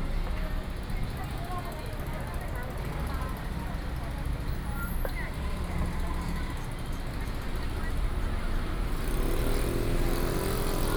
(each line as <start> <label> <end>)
5.4 Traffic noise 10.9